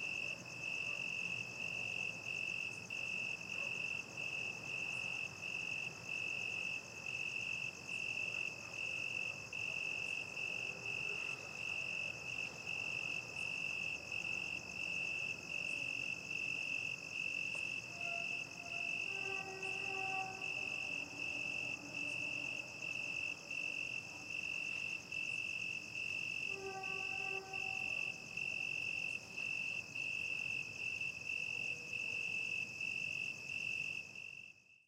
0.0s crickets 34.8s
0.6s distant dogs 2.1s
3.1s distant dogs 4.4s

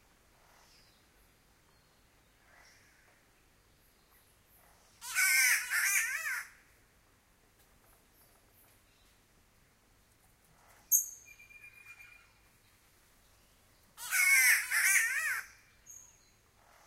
10.5s Green Catbird 16.8s

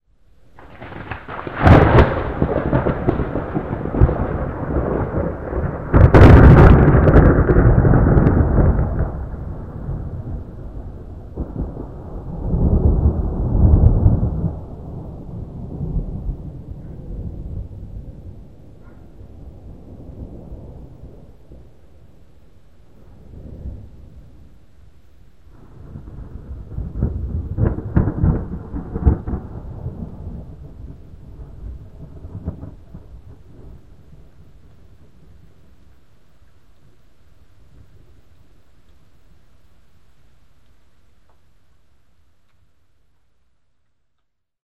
0.5s close-lightning-thunder 22.2s
22.9s close-lightning-thunder 24.6s
25.5s close-lightning-thunder 36.0s

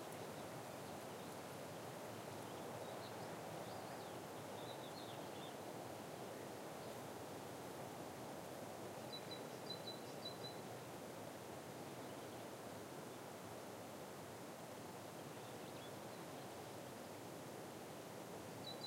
0.0s wind on pine trees 18.8s

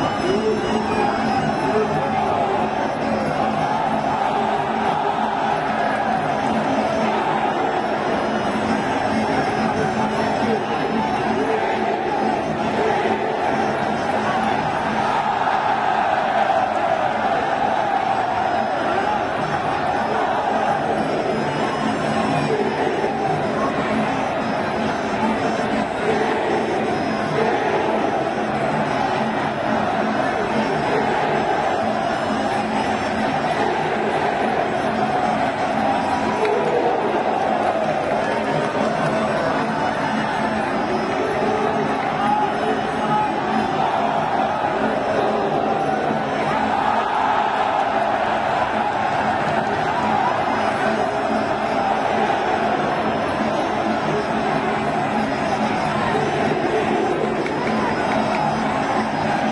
0.0s frenetic vocals of the placing of bets 59.5s

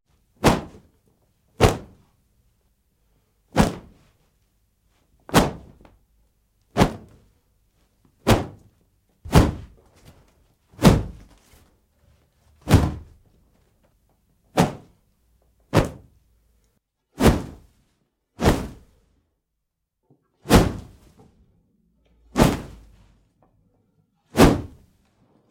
9.3s Kung-Fu Whooshes 9.8s
17.2s Kung-Fu Whooshes 17.7s
18.4s Kung-Fu Whooshes 19.0s
20.5s Kung-Fu Whooshes 21.0s
22.3s Kung-Fu Whooshes 22.9s
24.3s Kung-Fu Whooshes 24.9s

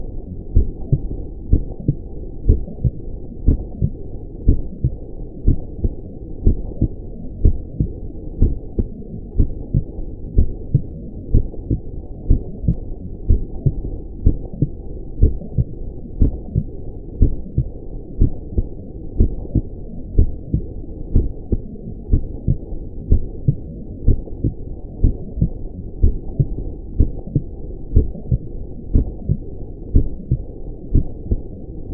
0.0s real human heart beating 31.9s

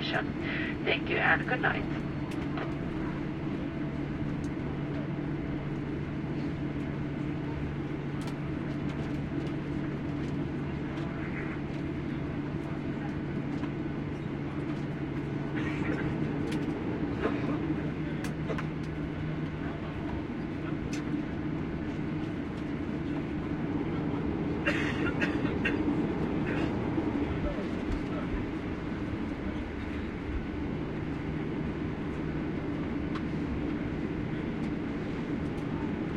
0.0s announcement 2.2s
0.0s aircraft landing 36.1s

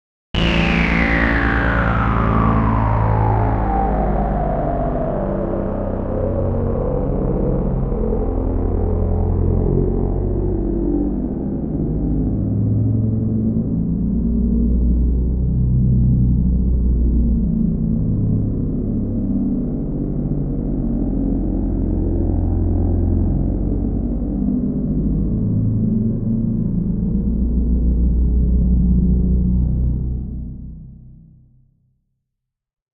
0.4s falling energy synth tone with a little slow sweep 31.3s

